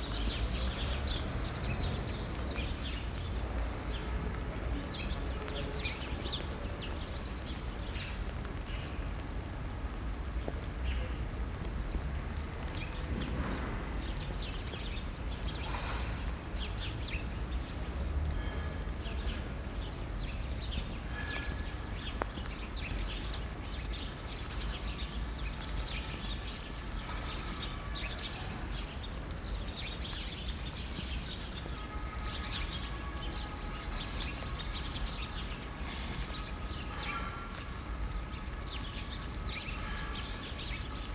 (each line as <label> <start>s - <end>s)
rain 0.0s - 41.1s
chattering sparrows 0.0s - 8.7s
chattering sparrows 18.4s - 41.1s